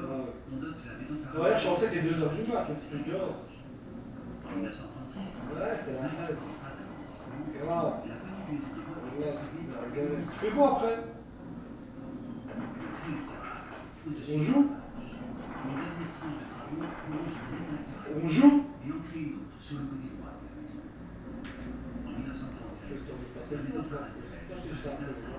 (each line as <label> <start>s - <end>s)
discussing in their home 0.0s - 25.3s